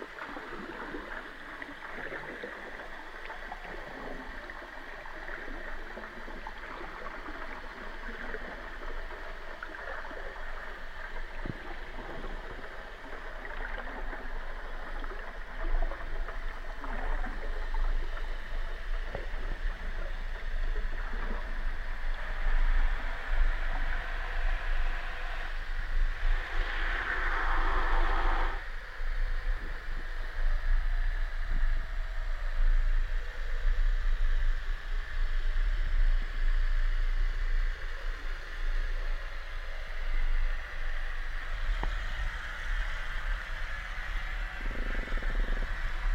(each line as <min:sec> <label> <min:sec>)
0:26.2 their swells 0:28.6